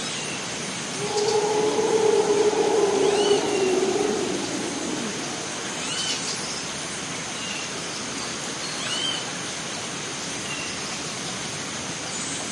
Howler Monkey 0:01.0 - 0:06.5
birds 0:01.0 - 0:06.3
insects 0:01.0 - 0:06.5

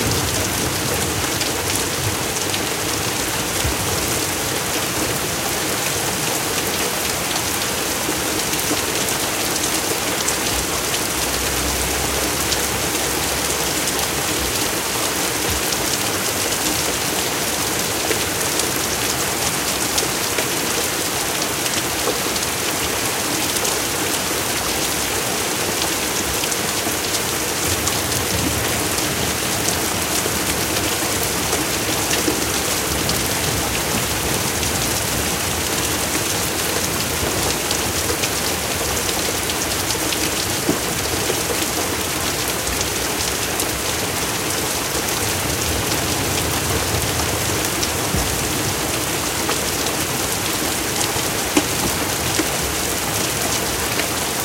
Heavy Rain 0:00.0 - 0:54.4
Thunder 0:45.7 - 0:49.1

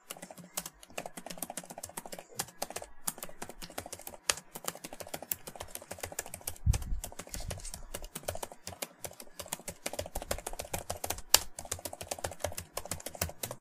typing on a laptop keyboard 0:00.0 - 0:13.6

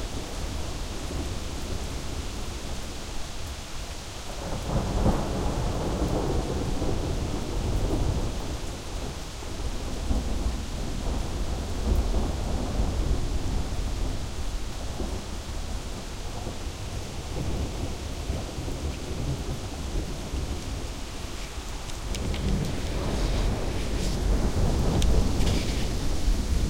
rain 0:00.0 - 0:26.6
thunder 0:04.4 - 0:21.4
thunder 0:22.0 - 0:26.6

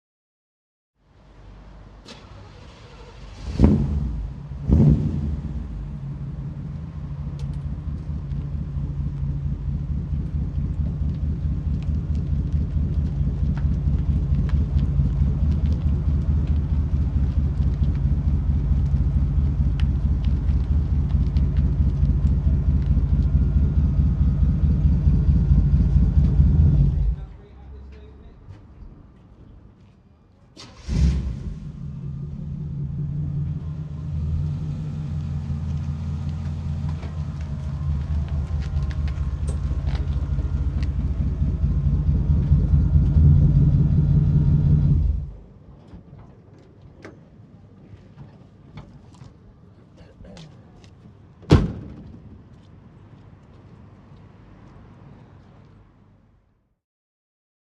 slow drive-by 0:01.0 - 0:28.1
v8 engine starting up 0:02.0 - 0:05.8
v8 engine starting up 0:30.6 - 0:45.4
slow drive-by 0:30.6 - 0:51.0
slow drive-by 0:52.4 - 0:56.8

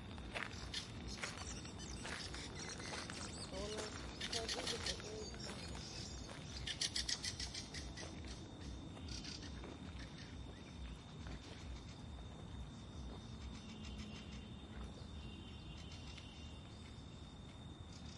people walk 0:00.0 - 0:18.0
birds communicate 0:00.2 - 0:17.0

